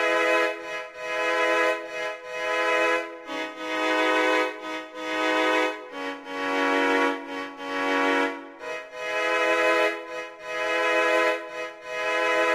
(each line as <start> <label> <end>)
0.0 Cello Song 12.5